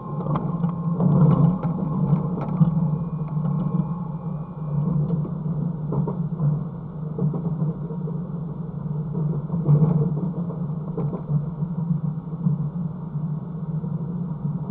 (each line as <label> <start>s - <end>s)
train going out from Paris 0.0s - 7.2s